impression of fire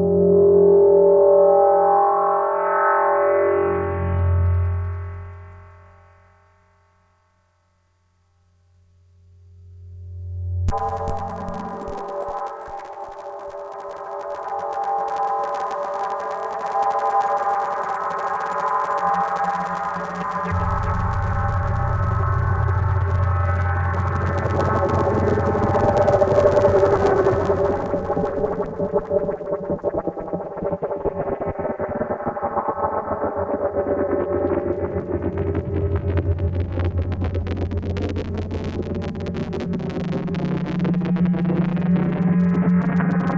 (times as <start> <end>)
10.7 43.3